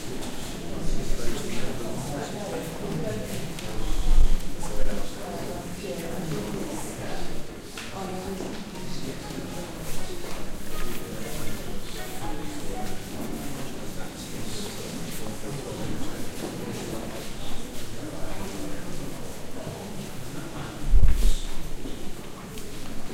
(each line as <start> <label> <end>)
8.1 Footsteps 19.4
20.9 Footsteps 23.1